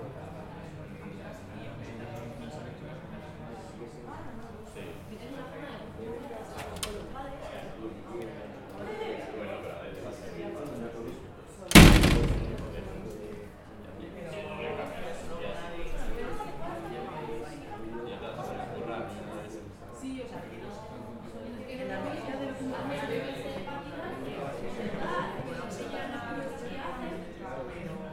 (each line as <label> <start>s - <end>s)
anti-theft system with the door open 11.7s - 13.1s
door opening 11.7s - 13.1s
Door slaming shut 11.7s - 13.2s